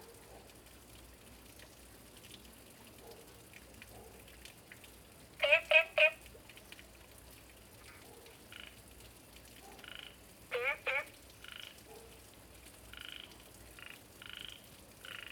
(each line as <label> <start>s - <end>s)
Frog calls 5.4s - 6.2s
Frog calls 9.8s - 11.8s
Frog calls 12.9s - 15.3s